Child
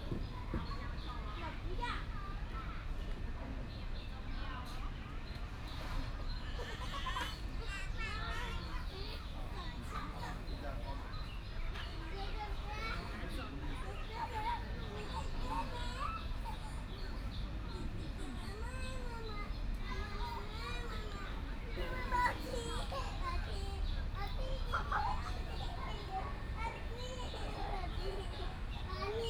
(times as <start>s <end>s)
0.1s 2.9s, 13.8s 29.2s